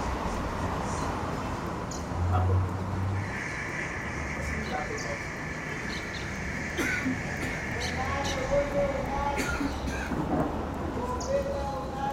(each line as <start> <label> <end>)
2.2 me and friends talked 12.1